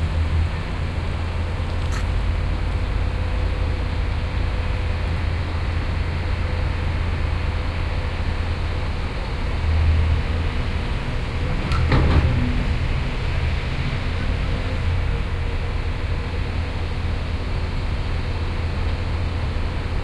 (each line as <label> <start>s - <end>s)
Construction work 10.8s - 17.3s